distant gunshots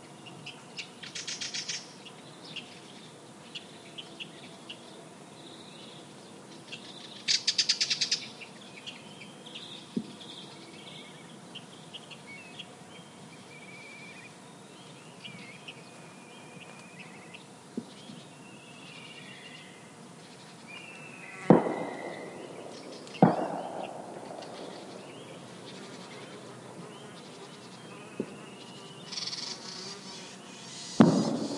21.5 25.6, 31.0 31.5

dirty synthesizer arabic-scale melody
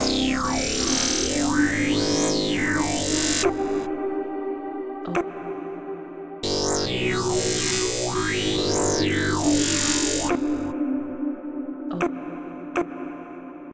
0.0 3.9, 6.4 10.8

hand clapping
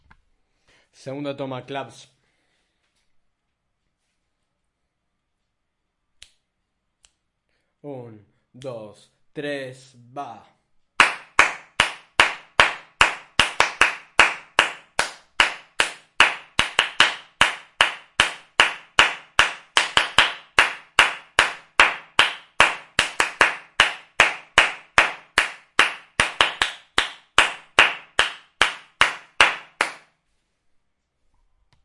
11.0 30.1

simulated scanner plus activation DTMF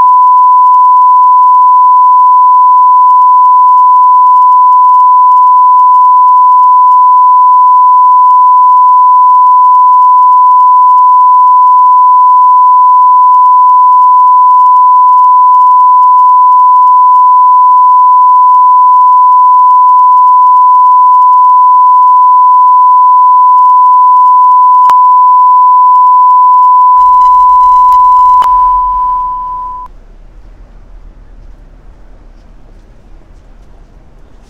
27.0 29.9

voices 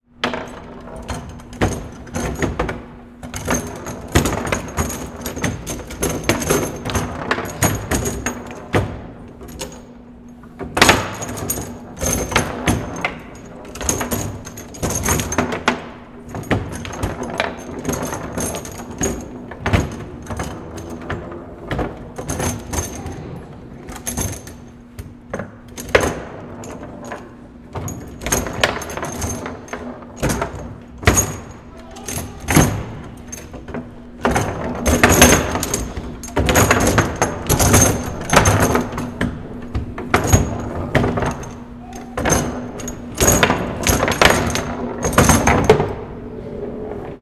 31.6 33.2, 41.7 42.3

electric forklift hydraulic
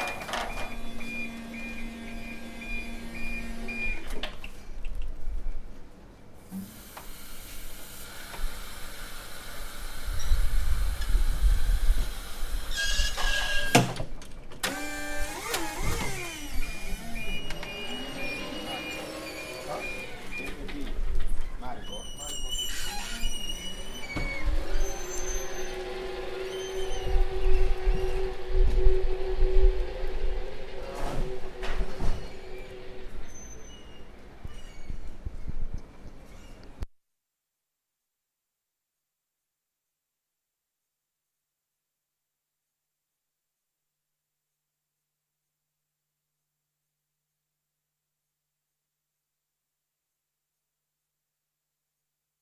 0.0 4.2, 14.6 20.7, 23.2 34.8

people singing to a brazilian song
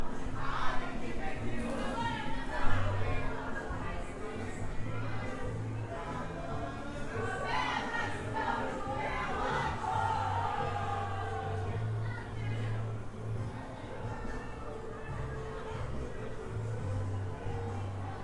0.0 12.7

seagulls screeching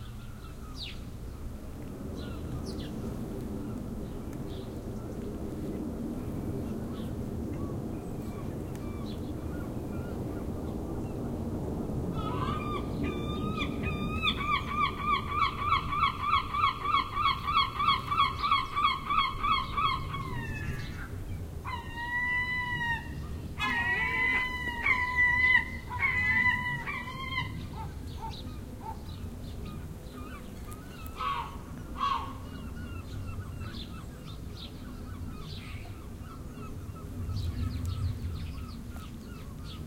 12.1 29.1, 29.7 34.2

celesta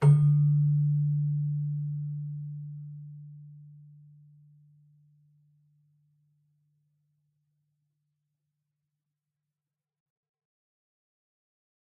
0.0 3.8

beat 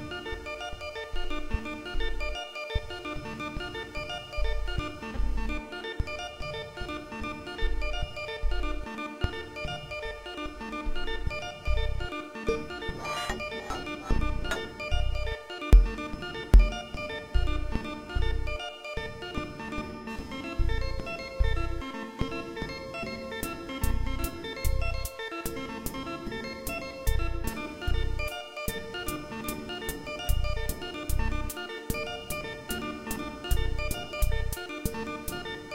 15.8 16.0

